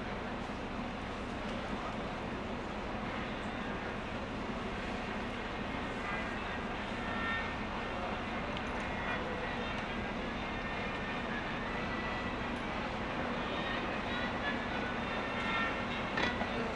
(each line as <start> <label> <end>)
8.8 distant violin player 16.7